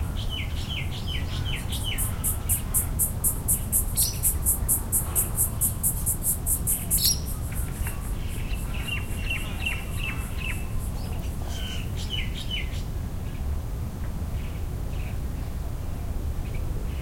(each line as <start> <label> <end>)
0.0 birds 12.9
0.0 insects 12.9